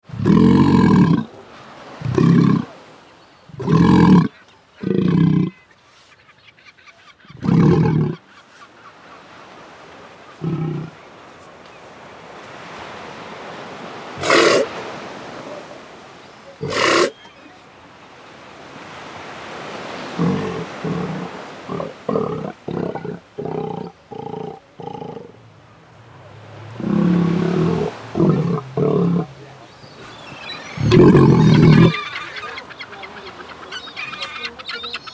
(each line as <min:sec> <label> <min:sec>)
0:14.2 Sea Lion screaming 0:14.8
0:16.6 Sea Lion screaming 0:17.2
0:20.1 Sea Lion screaming 0:24.6
0:26.7 Sea Lion screaming 0:29.4
0:30.6 Sea Lion screaming 0:35.1